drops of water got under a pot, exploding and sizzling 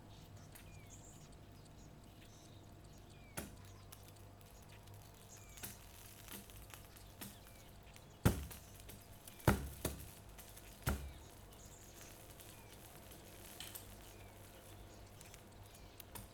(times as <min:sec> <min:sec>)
0:03.4 0:16.3